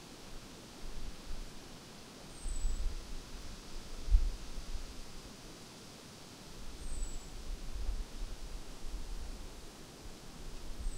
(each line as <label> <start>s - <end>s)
wind 0.0s - 10.9s